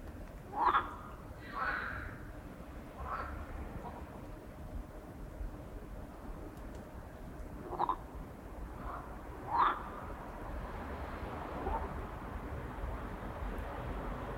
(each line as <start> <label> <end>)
0.4 night frogs 4.3
7.5 night frogs 10.3
11.5 night frogs 12.1